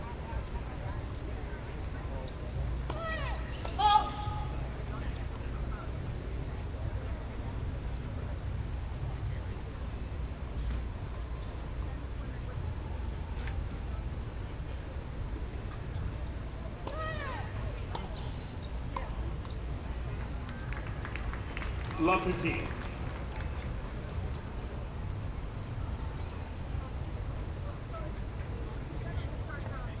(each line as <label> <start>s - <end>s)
Tennis Match 0.0s - 29.9s
Applause 20.2s - 24.5s
Audience 20.4s - 24.2s
Announcer 22.0s - 22.8s